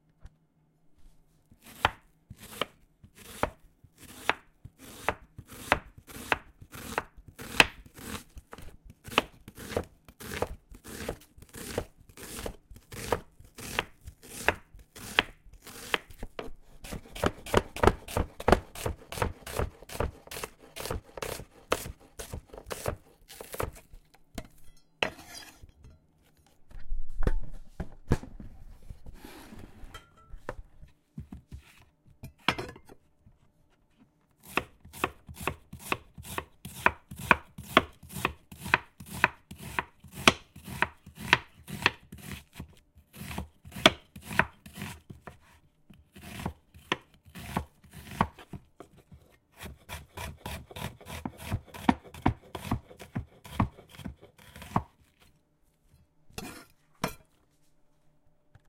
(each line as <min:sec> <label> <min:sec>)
0:01.6 Slicing and chopping onions on a wooden board 0:25.6
0:34.4 Slicing and chopping onions on a wooden board 0:55.3
0:56.3 Slicing and chopping onions on a wooden board 0:57.2